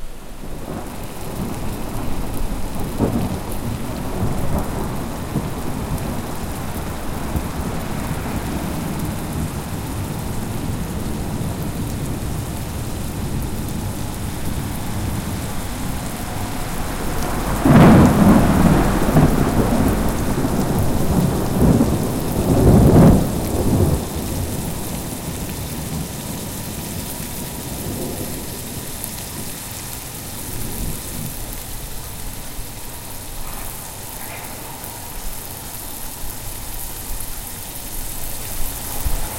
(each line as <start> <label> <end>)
0.0 Rain 39.3
0.3 Thunder Storm 39.3